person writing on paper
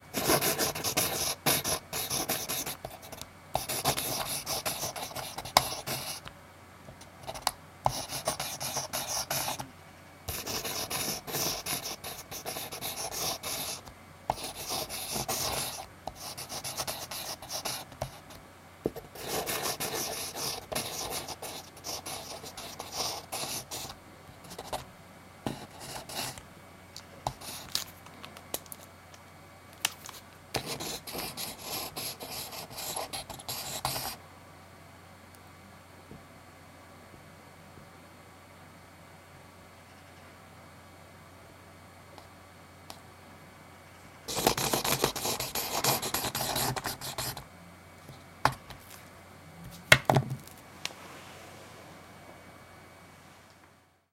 0.2s 6.3s, 7.2s 9.6s, 10.3s 24.8s, 25.5s 26.4s, 27.3s 27.8s, 30.1s 34.2s, 44.3s 47.4s

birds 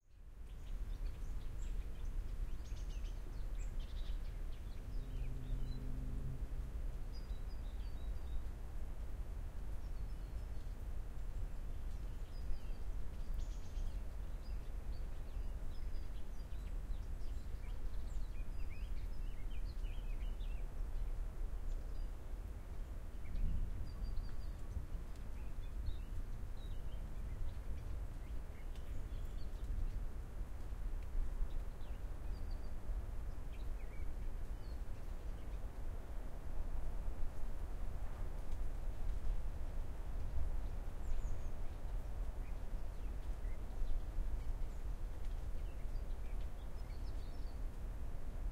9.7s 36.5s, 37.2s 47.8s

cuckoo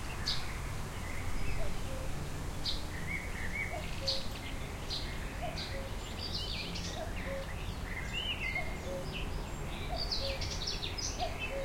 8.6s 9.1s, 11.2s 11.6s

